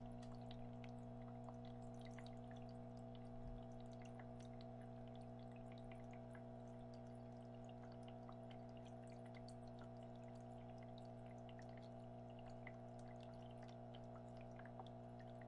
pump 0.0 - 15.4
water trickling in a small ornamental display 0.0 - 15.4

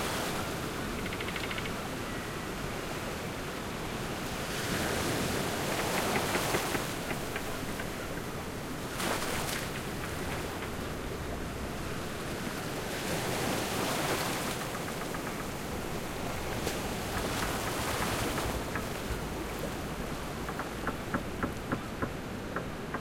Pirate Ship at Bay 0.0 - 23.0
ocean 0.0 - 23.0

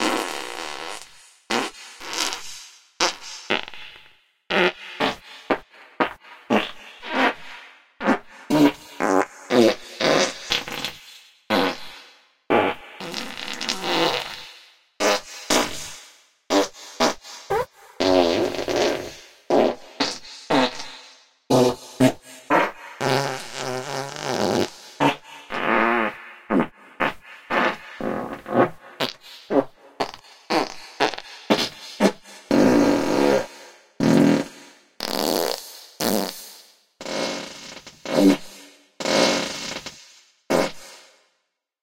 Fart Combo Slow 0.0 - 15.9
Fart Combo Slow 16.5 - 41.2

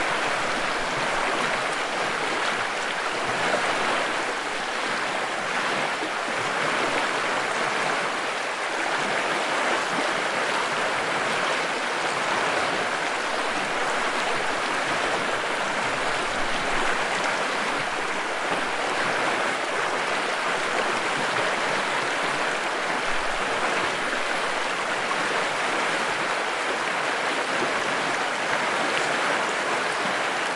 fast-flowing creek 0.0 - 30.5

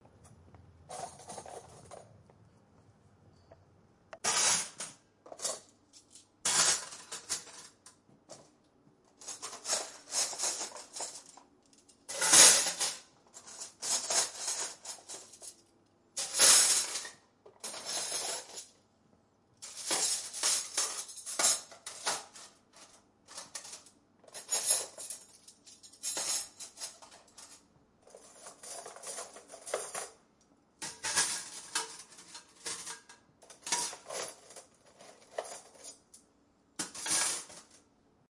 forks 30.8 - 36.0

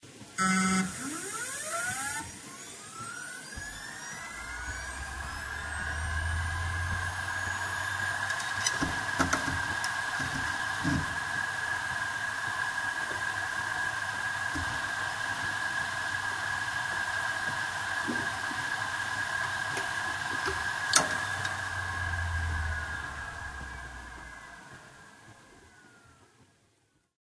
hard drive 0.1 - 26.5

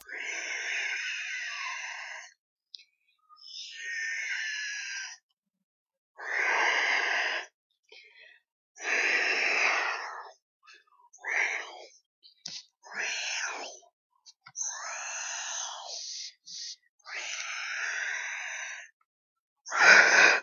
Xenomorph noises 0.0 - 2.4
Xenomorph noises 3.2 - 5.3
Xenomorph noises 8.8 - 19.0
Xenomorph noises 19.7 - 20.4

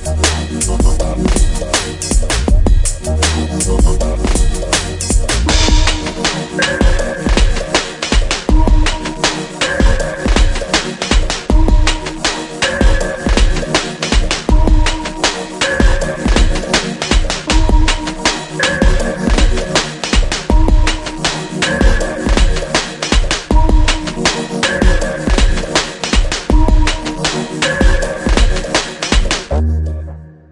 Groovy downtempo loop 0.0 - 30.2

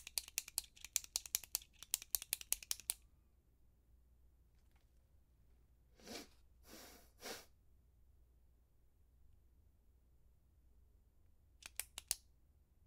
Ballpoint pen clicking 0.0 - 3.0
Ballpoint pen clicking 11.6 - 12.2

